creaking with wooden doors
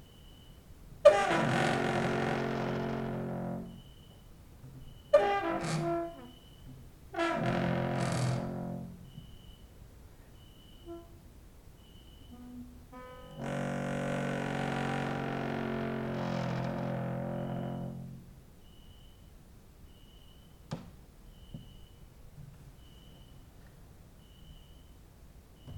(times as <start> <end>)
1.0 9.5, 12.2 18.3